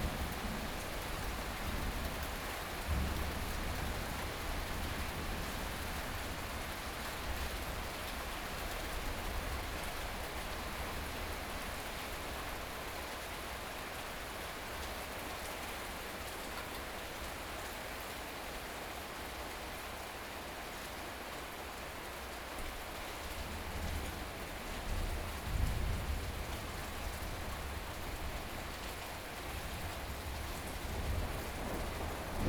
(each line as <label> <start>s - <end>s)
Thunderstorm 2.8s - 6.0s
Thunderstorm 23.5s - 28.8s
Thunderstorm 29.5s - 32.4s